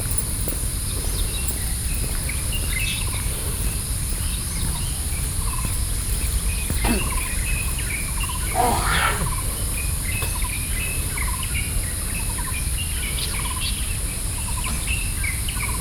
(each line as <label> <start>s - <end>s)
Birdsong 0.0s - 15.8s